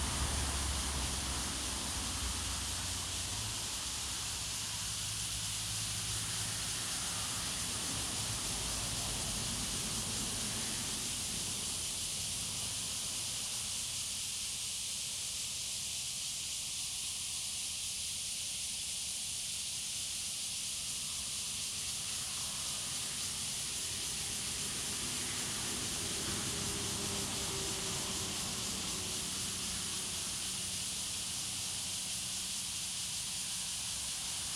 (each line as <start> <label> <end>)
0.0 Traffic Sound 13.6
0.0 Cicadas sound 34.5
22.0 Traffic Sound 34.5